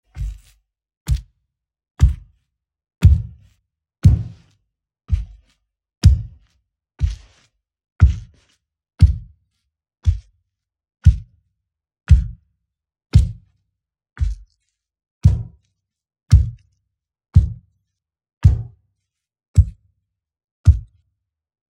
0.1s steps of various intensity on a grimy floor 1.3s
2.0s steps of various intensity on a grimy floor 2.4s
3.0s steps of various intensity on a grimy floor 4.5s
5.1s steps of various intensity on a grimy floor 9.3s
10.0s steps of various intensity on a grimy floor 10.3s
11.0s steps of various intensity on a grimy floor 11.3s
12.1s steps of various intensity on a grimy floor 12.4s
13.2s steps of various intensity on a grimy floor 13.4s
14.2s steps of various intensity on a grimy floor 15.6s
16.3s steps of various intensity on a grimy floor 16.6s
17.4s steps of various intensity on a grimy floor 17.6s
18.4s steps of various intensity on a grimy floor 18.7s
19.6s steps of various intensity on a grimy floor 19.8s

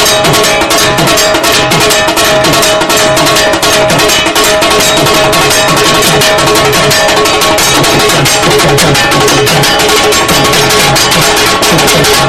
0.0s Dhaak beats 12.2s
0.0s kashor ghanta 12.2s

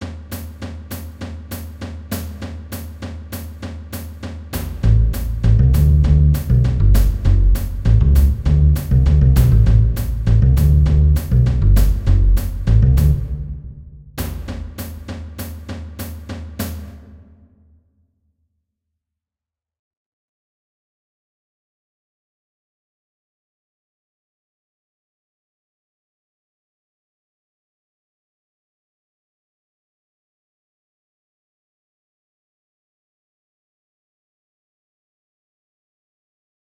0.0s Drums 17.8s
4.6s double bass 13.9s

